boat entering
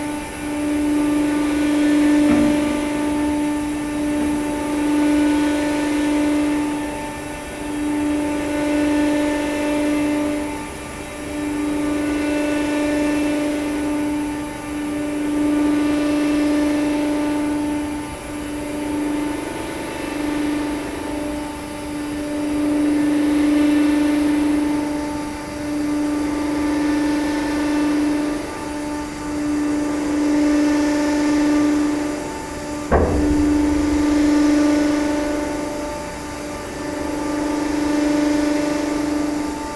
0:00.0 0:05.0, 0:31.8 0:36.9

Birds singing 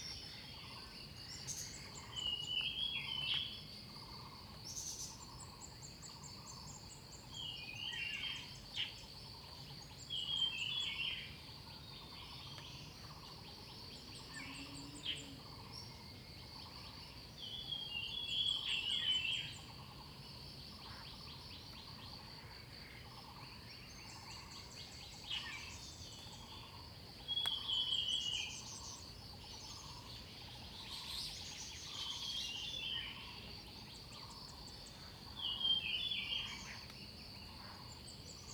0:23.0 0:38.5

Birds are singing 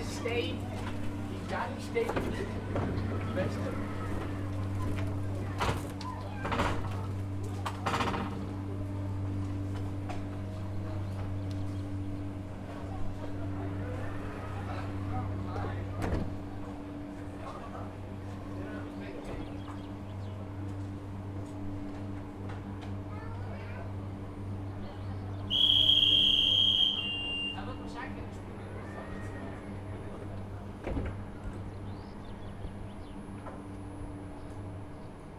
0:19.2 0:20.5, 0:31.4 0:33.6

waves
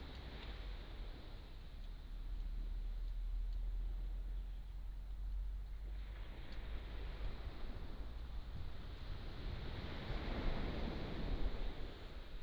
0:05.8 0:12.4

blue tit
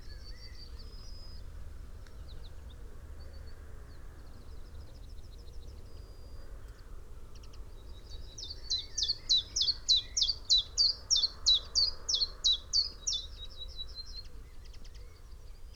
0:08.4 0:14.0

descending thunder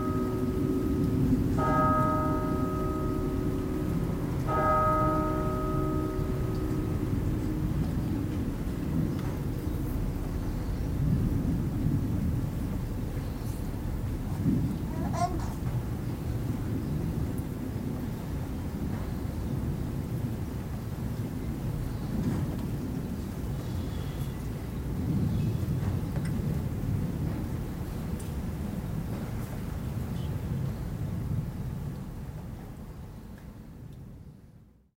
0:00.0 0:23.6

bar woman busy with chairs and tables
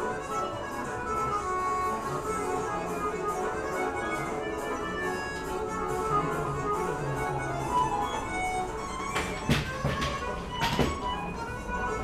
0:08.7 0:12.0

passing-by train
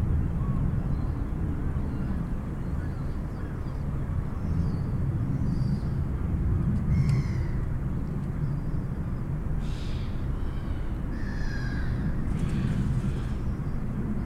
0:05.9 0:14.2

